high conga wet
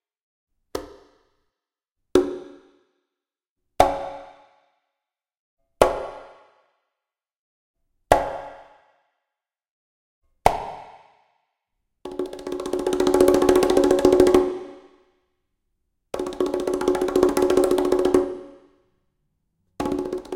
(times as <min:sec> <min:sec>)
0:16.2 0:18.6, 0:19.8 0:20.3